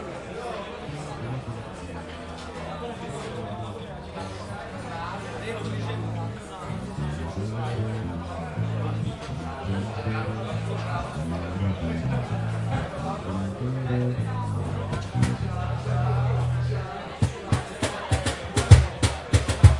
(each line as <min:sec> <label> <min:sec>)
0:00.0 people talking 0:19.7
0:05.7 live band rehearsing on stage 0:19.7